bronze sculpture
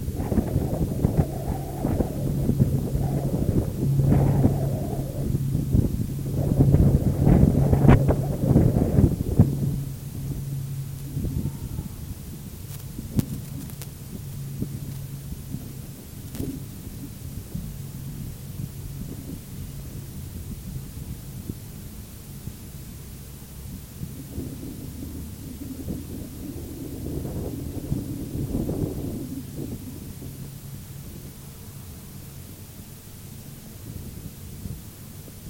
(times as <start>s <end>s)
0.0s 21.4s